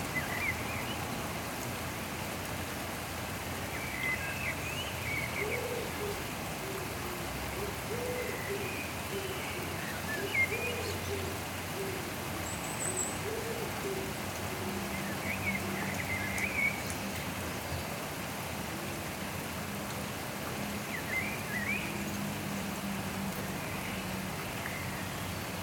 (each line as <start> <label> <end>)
0.0 Blackbird in the rain 25.6
0.0 rain 25.6